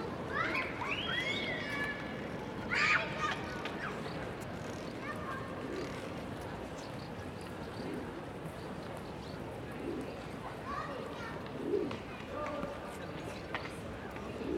0.0s children 5.8s
3.9s pigeons 12.2s
10.5s children 11.9s
13.2s pigeons 14.5s

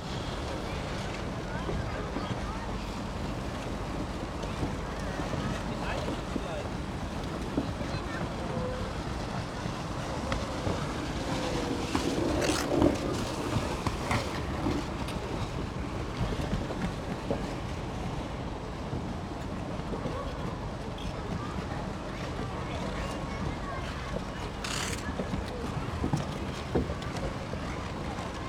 10.3s ice skating 14.9s
23.0s ice skating 27.4s

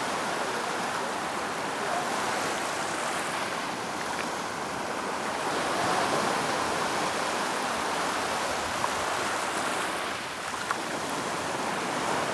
0.0s zout water 12.3s

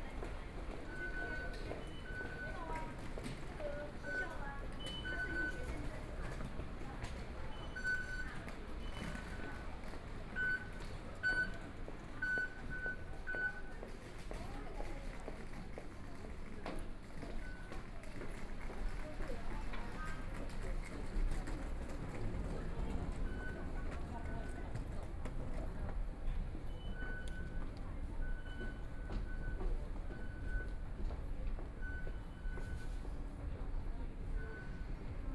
0.0s walking in the Station 35.3s

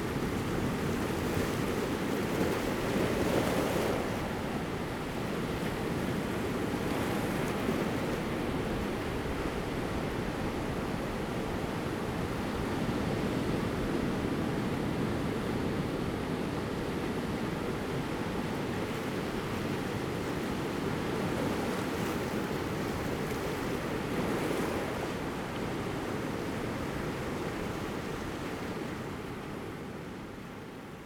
0.0s waves 31.0s

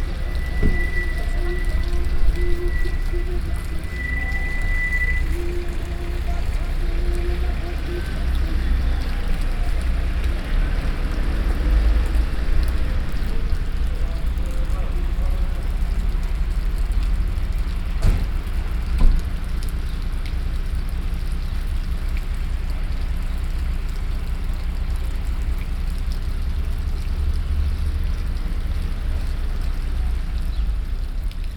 0.0s fountain 31.5s
3.0s truck passing by 15.4s

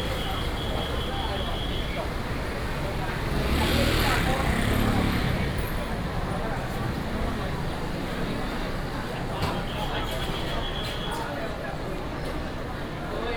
0.0s whistle of traffic 2.6s
0.0s traffic sound 12.9s
9.5s whistle of traffic 11.4s

